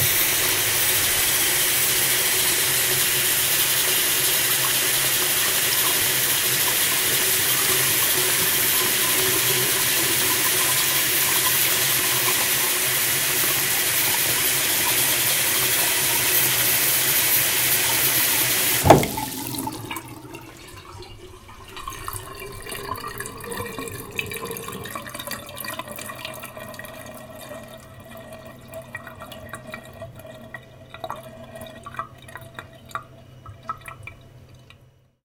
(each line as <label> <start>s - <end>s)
faucet 18.8s - 21.0s